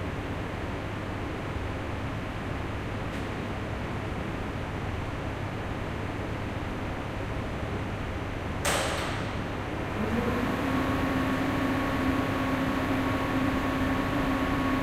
9.8s two motors for two lifts 14.8s

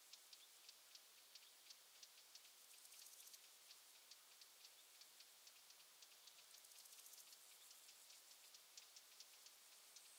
0.0s birds 10.1s

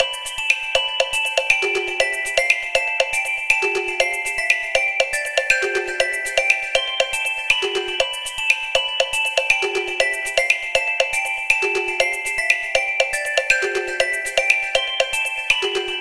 0.0s perc keys 16.0s

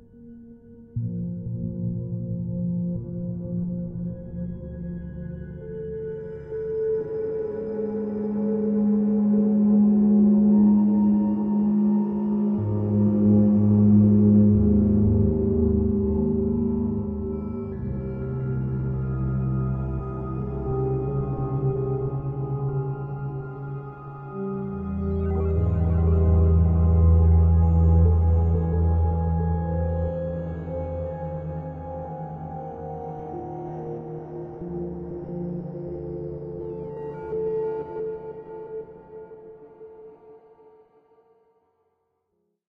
1.0s synth 40.6s

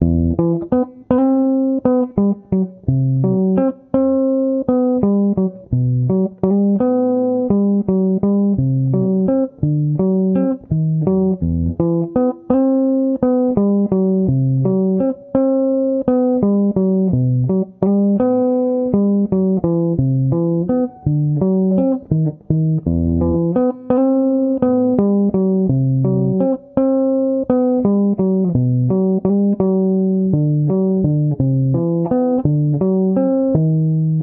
0.0s guitar 34.2s

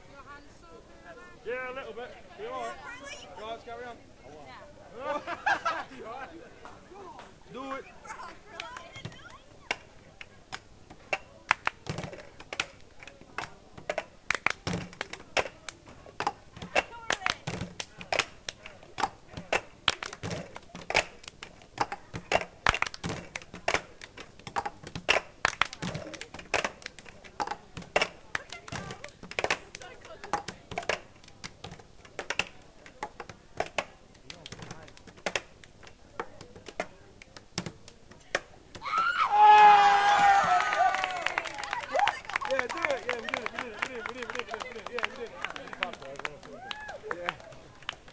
11.5s handclap 11.8s
14.3s handclap 15.8s
16.8s handclap 18.7s
19.5s handclap 21.5s
22.3s handclap 24.2s
25.1s handclap 27.4s
40.1s handclap 48.1s

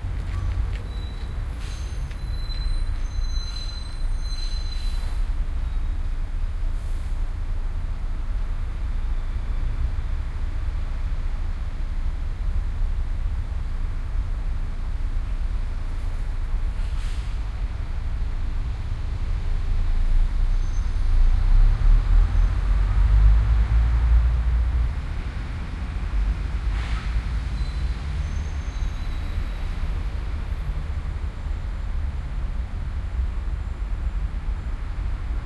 0.0s people walking by 2.4s
0.0s City Traffic 35.4s
0.0s city noises 35.4s

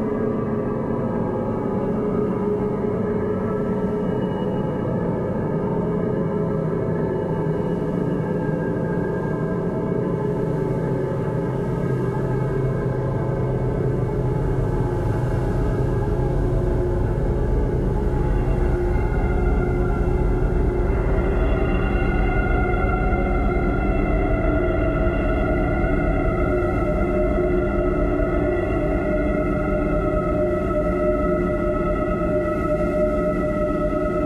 0.0s long evolving pad 34.2s

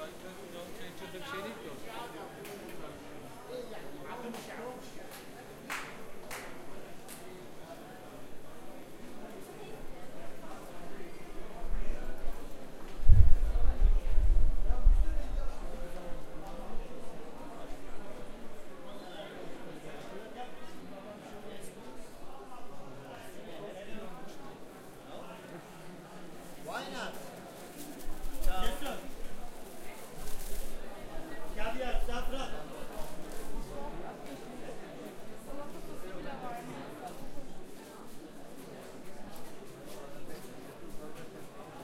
0.0s people 41.8s

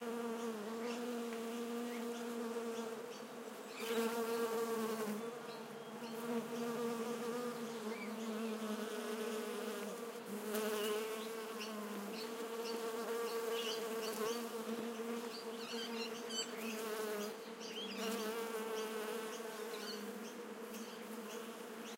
0.0s bees 21.9s

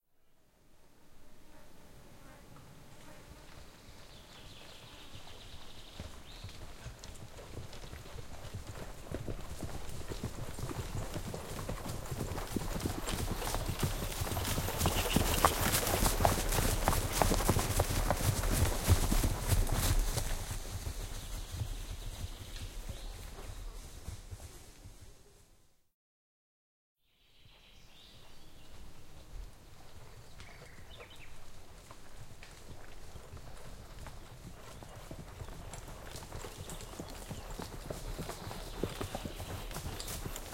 0.9s horses walking in the forest 25.7s
27.2s horses walking in the forest 40.5s

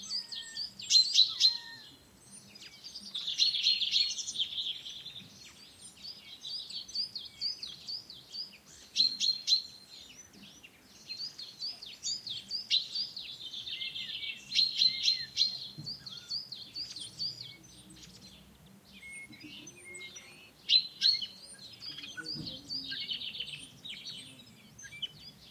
0.0s birds 25.5s
21.8s voices 24.5s

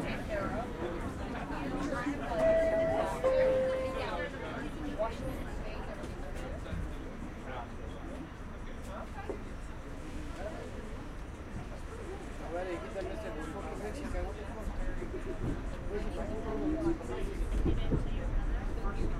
0.0s Subway interior car chatter 19.1s

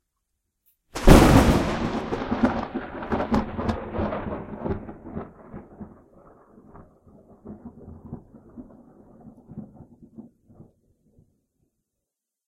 1.0s Extremely Close THUNDER 10.7s

